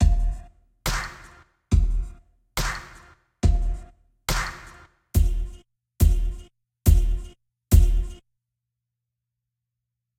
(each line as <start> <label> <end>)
0.9 Snare 1.5
2.6 Snare 3.2
4.3 Snare 5.3